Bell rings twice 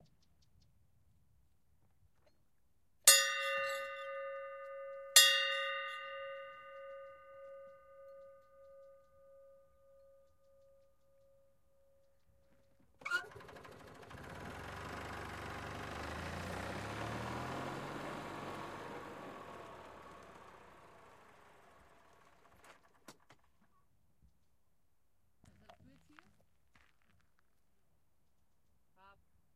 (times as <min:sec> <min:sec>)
0:03.1 0:09.5